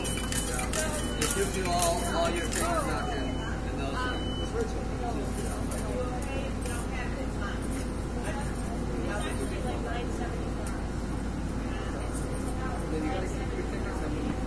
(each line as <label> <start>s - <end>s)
coins 0.0s - 3.0s
beeps 0.0s - 4.7s
motors 0.0s - 10.8s
speech 0.3s - 11.0s
speech 11.6s - 14.4s